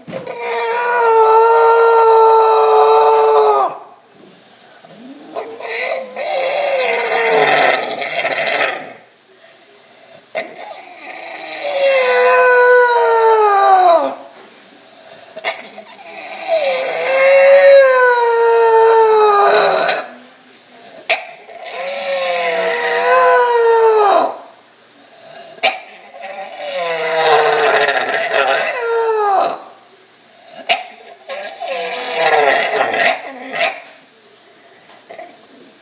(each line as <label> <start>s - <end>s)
English Bulldog immediately after waking from a surgery 4.8s - 9.1s
English Bulldog immediately after waking from a surgery 15.0s - 20.2s
English Bulldog immediately after waking from a surgery 20.8s - 24.4s
English Bulldog immediately after waking from a surgery 25.4s - 29.7s
English Bulldog immediately after waking from a surgery 30.4s - 34.0s